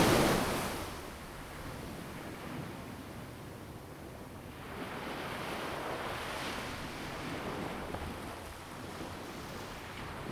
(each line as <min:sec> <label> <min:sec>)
0:00.0 waves 0:01.2